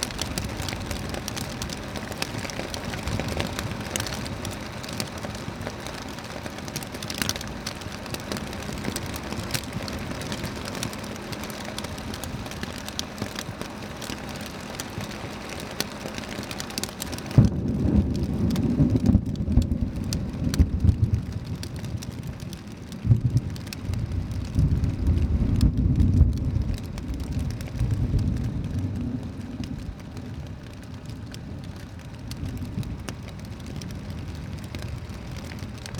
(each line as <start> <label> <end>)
17.2 Thunderstorm 31.0